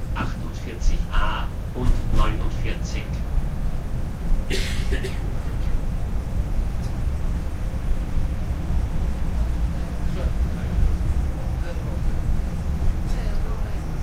announcements 0:00.0 - 0:03.3
elevator sounds 0:00.0 - 0:14.0
incoming subway 0:00.0 - 0:14.0
incoming tramway 0:00.0 - 0:14.0
outdoor traffic noise 0:00.0 - 0:14.0
short subway ride 0:00.0 - 0:14.0
people chatting 0:00.2 - 0:03.2
doors opening 0:01.8 - 0:02.6
people chatting 0:09.7 - 0:10.8
people chatting 0:11.4 - 0:12.2
people chatting 0:13.1 - 0:14.0

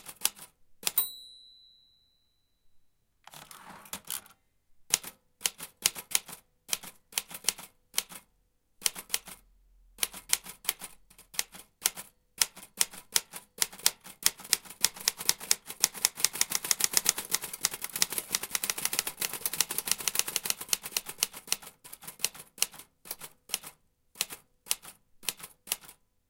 old typewriter 0:00.0 - 0:01.0
old typewriter 0:03.3 - 0:04.3
old typewriter 0:04.9 - 0:08.2
old typewriter 0:08.8 - 0:09.4
old typewriter 0:10.0 - 0:26.0

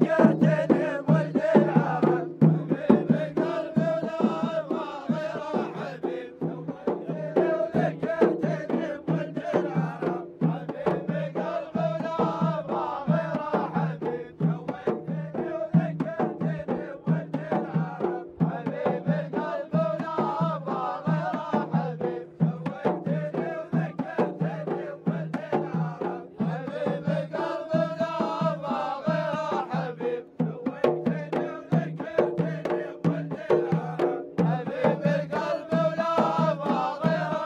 Drums 0:00.0 - 0:37.4
Wedding song 0:00.0 - 0:37.4

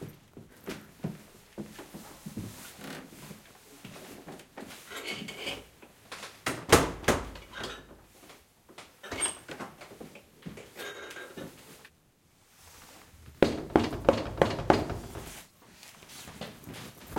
Footsteps 0:12.7 - 0:17.1
knocks on the door 0:13.4 - 0:15.3

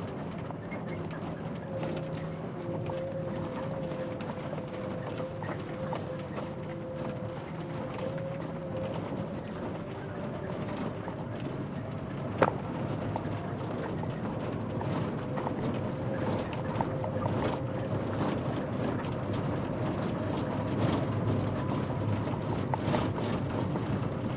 van 0:00.0 - 0:24.3

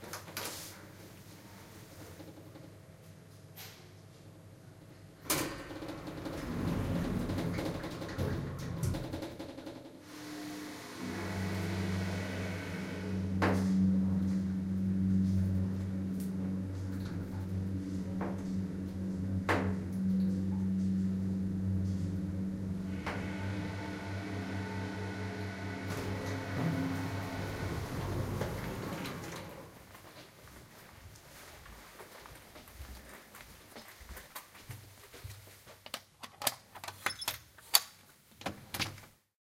electronic door 0:05.3 - 0:29.8
Lift Ride 0:10.1 - 0:29.8
walking 0:28.4 - 0:35.8

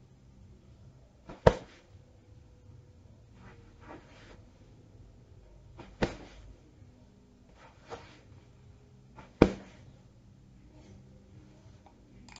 Pillow hit impact 0:01.3 - 0:01.8
Pillow hit impact 0:05.8 - 0:06.4
Pillow hit impact 0:09.2 - 0:09.8

